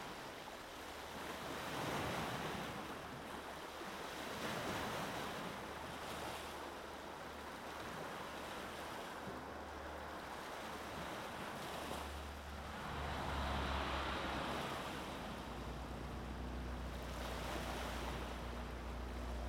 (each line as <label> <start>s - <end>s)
Waves 0.0s - 19.4s
Traffic 9.3s - 19.4s